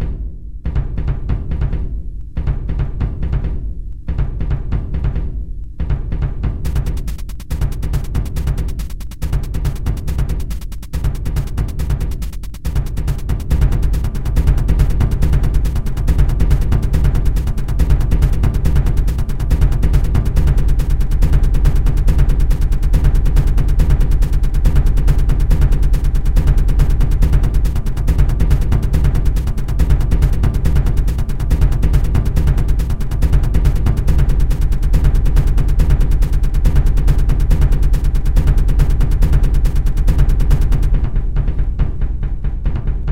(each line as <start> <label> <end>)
0.0 Tom 43.1
0.0 bassdrum acoustic 43.1